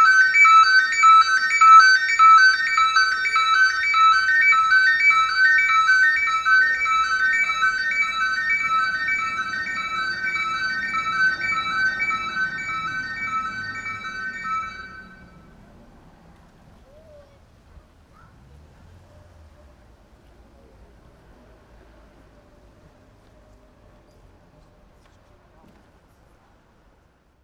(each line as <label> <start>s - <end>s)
ShopAlarm 0.0s - 15.5s